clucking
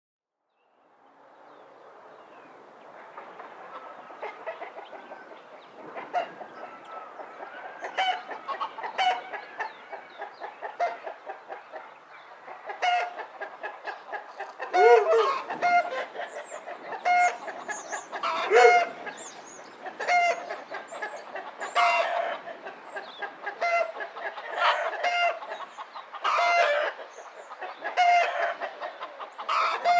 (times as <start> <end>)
6.0 29.9